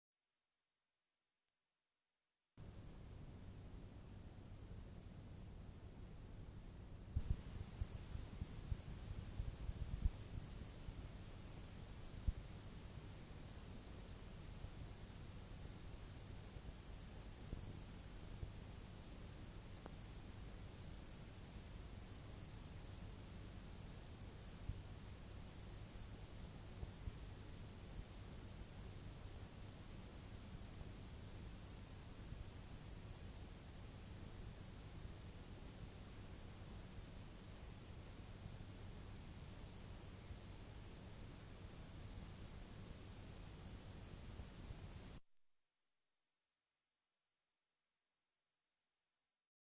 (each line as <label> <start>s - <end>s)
Tape Hiss from Blank Tape 6.1s - 45.2s